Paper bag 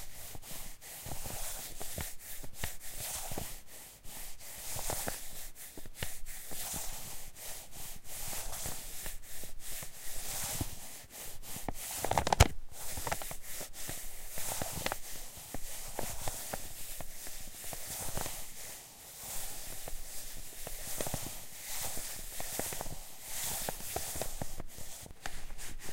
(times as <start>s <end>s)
12.0s 13.2s